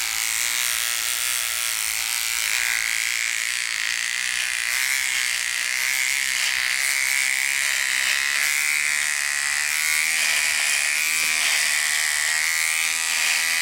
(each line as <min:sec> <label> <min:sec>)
0:00.0 Beard Trimmer Shaver Handheld 0:13.6